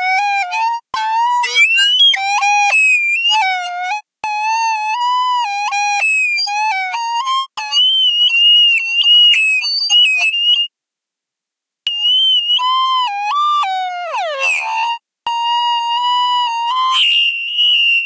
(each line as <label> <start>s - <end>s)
Alien birds warbling 1.4s - 2.2s